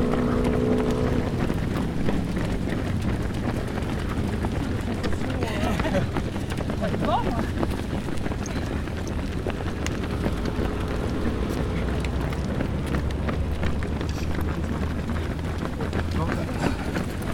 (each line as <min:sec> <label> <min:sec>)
0:00.0 circulation routière 0:17.3